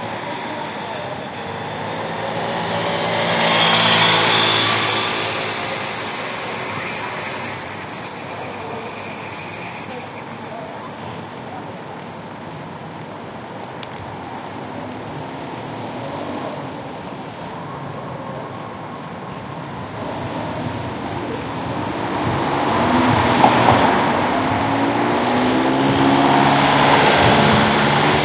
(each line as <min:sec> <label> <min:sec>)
0:00.0 People 0:28.2
0:00.0 cars 0:28.2
0:00.0 trams 0:28.2
0:00.0 wind 0:28.2